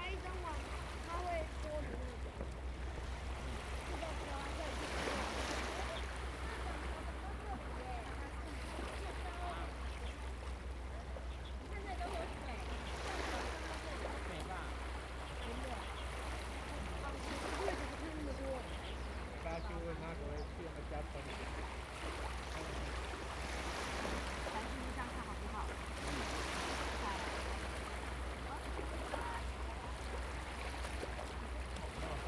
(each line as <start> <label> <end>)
0.0 waves and tides 32.2
9.4 Birds singing 21.3